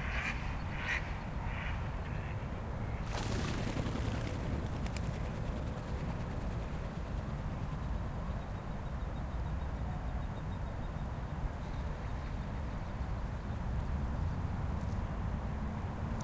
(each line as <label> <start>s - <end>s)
ducks flying at night over the pond 0.0s - 10.4s